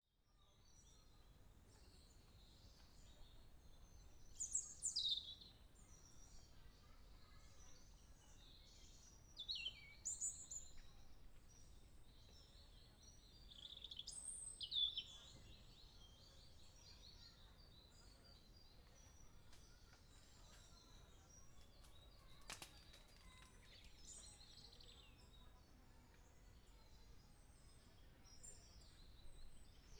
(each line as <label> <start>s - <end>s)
Birds 0.4s - 29.9s
People 15.1s - 29.9s